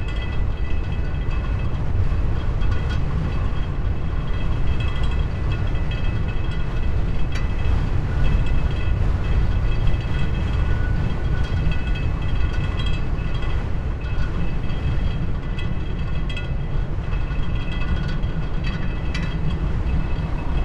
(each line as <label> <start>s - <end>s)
stormy weather 0.0s - 20.6s
vibrating fence 0.0s - 20.6s